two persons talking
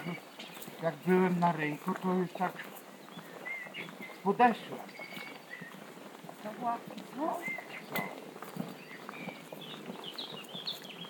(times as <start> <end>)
0.0 8.3